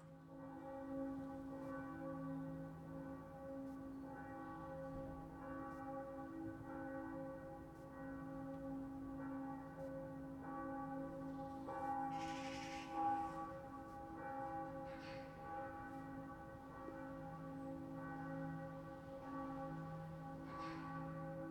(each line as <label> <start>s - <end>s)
distant sunday churchbells 0.0s - 21.5s